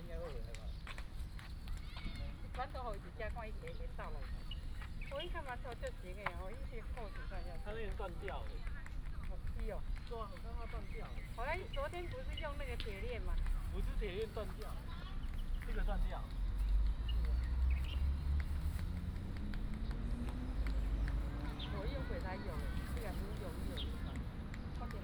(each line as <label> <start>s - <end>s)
birds sound 0.0s - 25.0s
traffic sound 0.0s - 25.0s